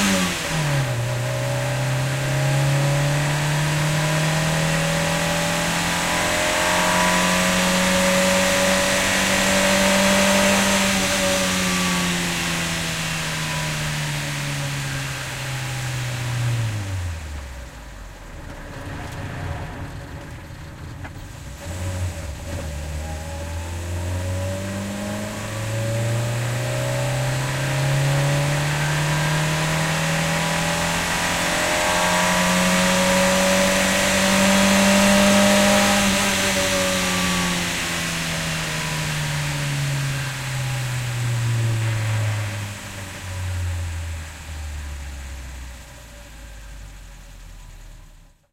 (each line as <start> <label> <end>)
0.0 Reault 19 driving 2 48.5